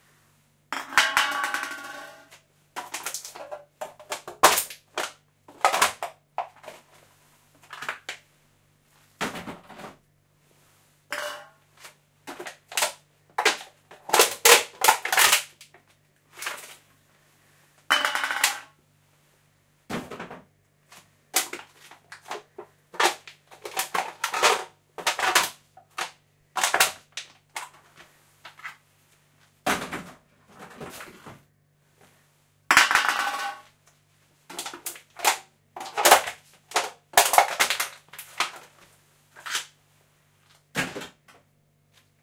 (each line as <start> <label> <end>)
2.8 CRUSHING BEER CANS 6.9
12.3 CRUSHING BEER CANS 15.8
21.4 CRUSHING BEER CANS 27.8
29.6 put in recycling bin 31.5
34.5 CRUSHING BEER CANS 38.7